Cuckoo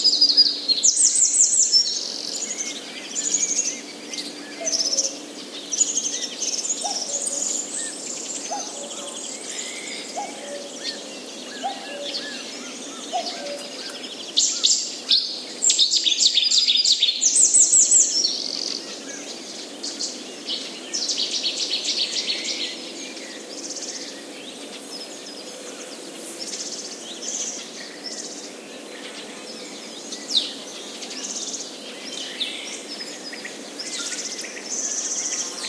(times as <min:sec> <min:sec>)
0:10.1 0:14.0